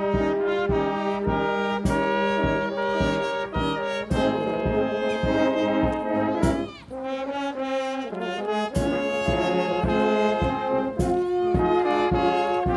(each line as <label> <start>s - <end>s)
игра духового оркестра 0.1s - 12.7s